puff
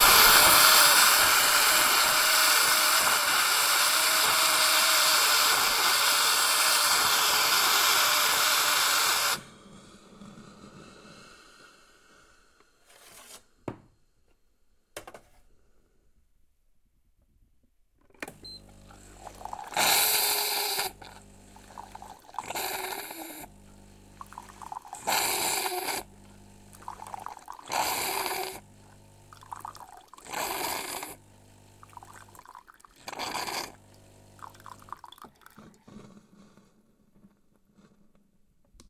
19.1 23.6, 24.2 26.1, 27.0 28.7, 30.2 31.3, 33.0 33.9

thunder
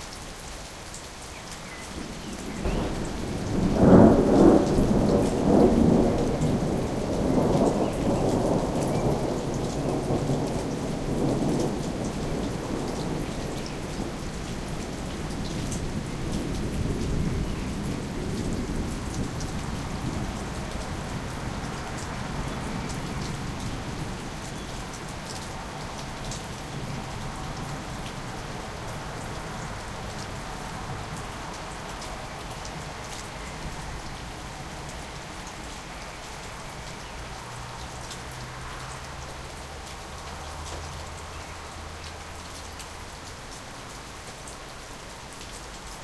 2.4 14.2

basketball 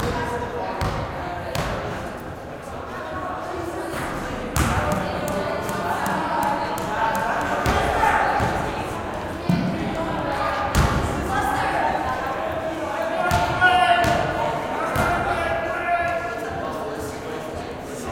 0.0 2.0, 4.5 8.8, 13.2 15.4

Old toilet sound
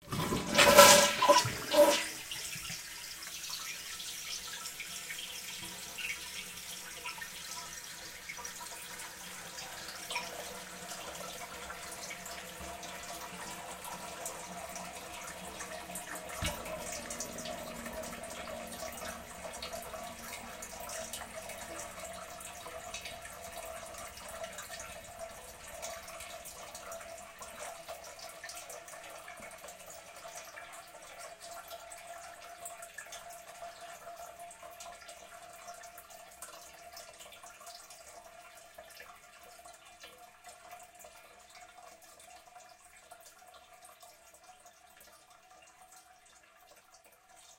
0.0 27.9

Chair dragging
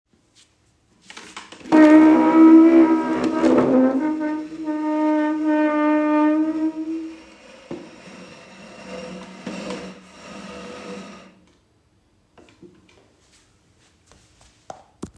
1.6 11.4

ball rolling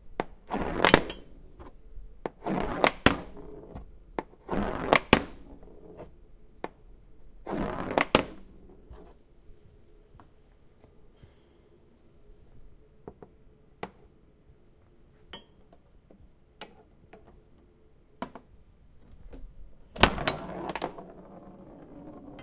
0.1 9.2, 18.2 22.4

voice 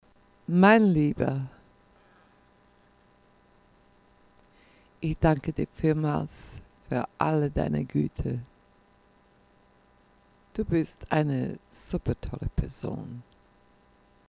0.5 1.6, 5.0 8.5, 10.6 13.3

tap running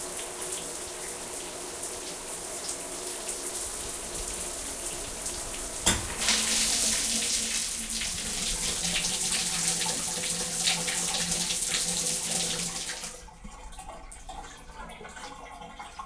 5.8 6.6

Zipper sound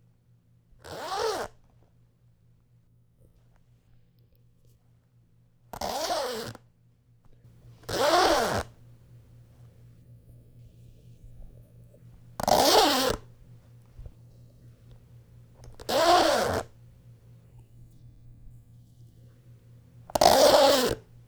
5.8 6.6, 7.8 8.7, 12.4 13.3, 15.6 16.8, 20.1 21.1

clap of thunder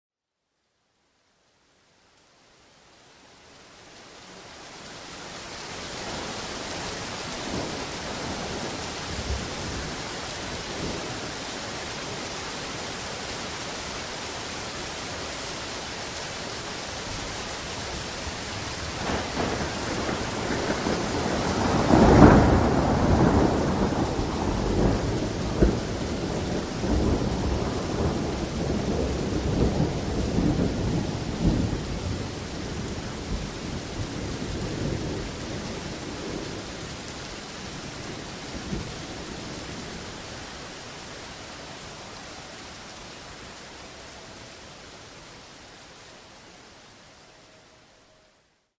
19.0 32.0

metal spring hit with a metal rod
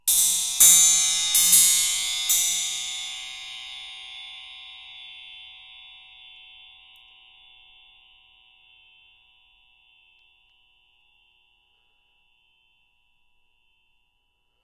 0.1 4.1

